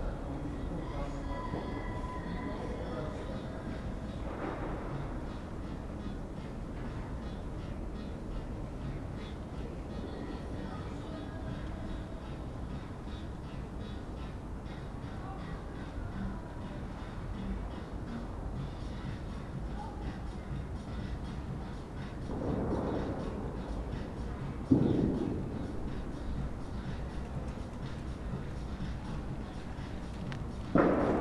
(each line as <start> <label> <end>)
2.7 music of a nearby party 31.2